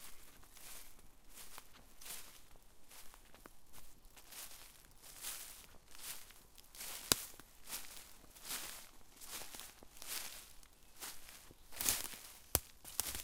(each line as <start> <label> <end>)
0.0 walking over a forest floor covered in leaves and twigs 13.2
9.4 Birds 13.2